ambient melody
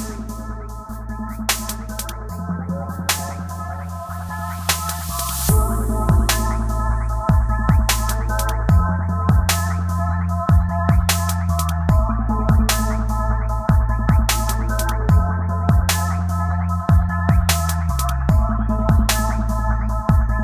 0:00.0 0:09.5

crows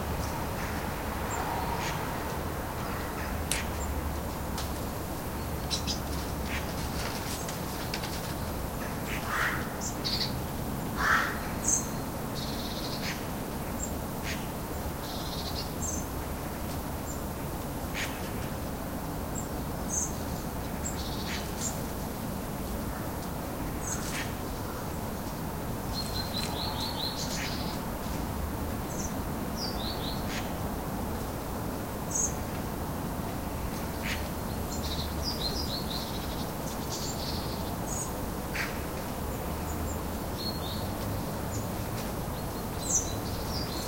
0:08.8 0:09.8, 0:11.0 0:11.6

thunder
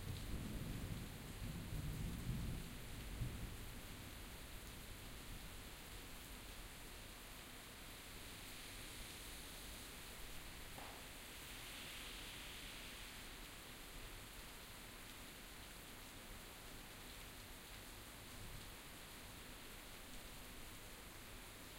0:00.0 0:03.6

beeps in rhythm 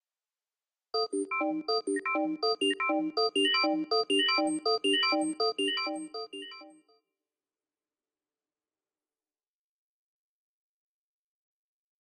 0:01.0 0:06.7

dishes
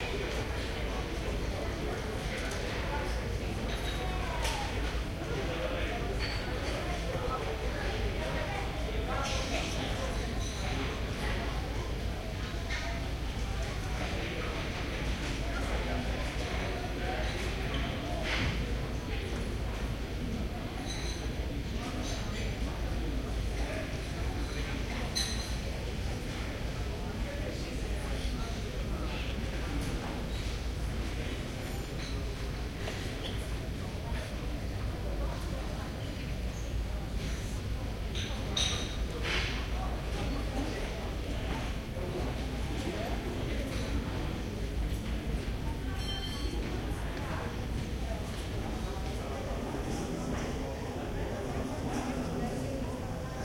0:25.1 0:25.6, 0:38.1 0:39.6, 0:46.0 0:46.7

